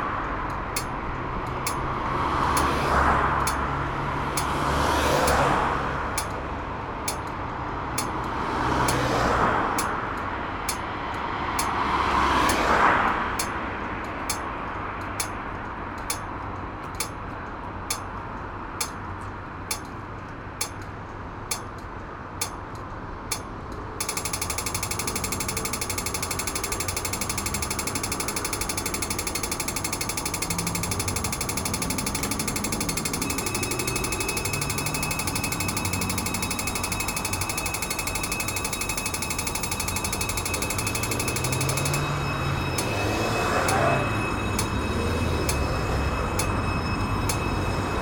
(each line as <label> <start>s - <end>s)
red light signal sounds the traffic for blind people 0.0s - 7.4s
heavy traffic 0.0s - 48.0s
red light signal sounds the traffic for blind people 8.0s - 17.2s
red light signal sounds the traffic for blind people 21.5s - 21.8s
red light signal sounds the traffic for blind people 23.3s - 48.0s
swing bridge sounds its alarm 24.0s - 48.0s